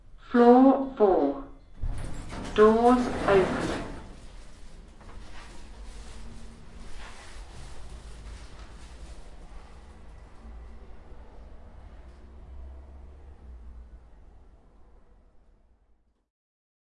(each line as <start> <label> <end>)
1.7 lift doors opening 4.8
2.4 spoken voice saying doors opening 4.0